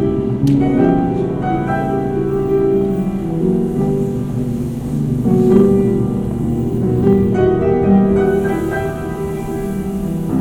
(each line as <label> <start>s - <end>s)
l'escalator 0.0s - 10.4s
piano 0.0s - 10.4s